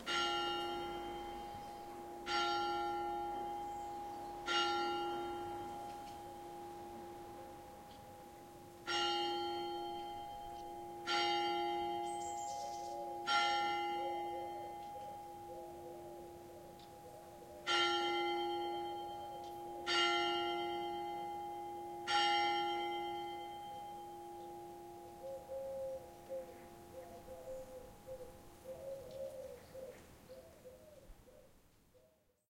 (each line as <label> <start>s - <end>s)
birds 0.0s - 6.3s
church bell 0.0s - 28.6s
birds 11.6s - 18.3s
dove 12.0s - 18.2s
birds 24.3s - 32.4s
dove 24.4s - 32.2s